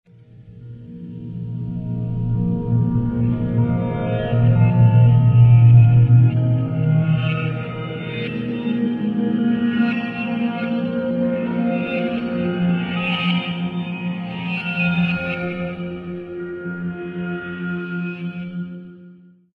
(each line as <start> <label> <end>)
0.2 ambient synth moment 19.0